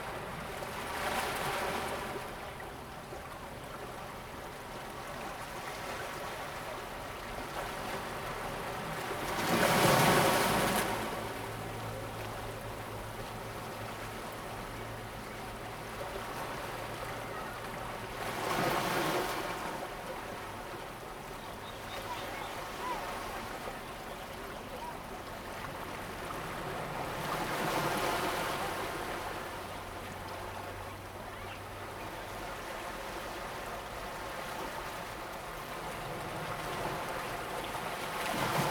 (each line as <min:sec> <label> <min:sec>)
0:00.0 waves 0:38.7